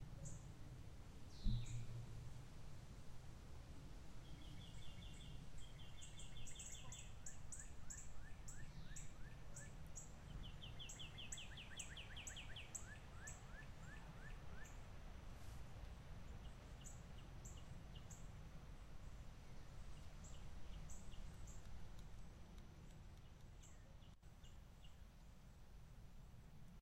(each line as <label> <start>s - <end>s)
Birds 4.2s - 15.0s